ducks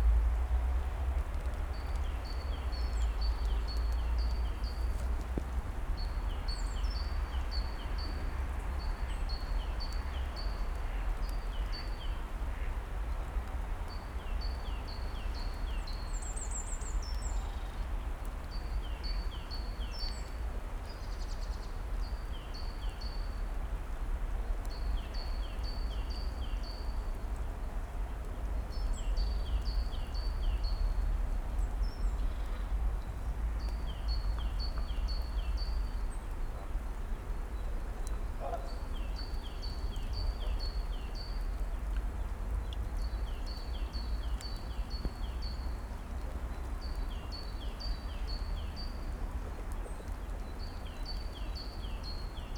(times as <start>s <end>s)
38.4s 38.8s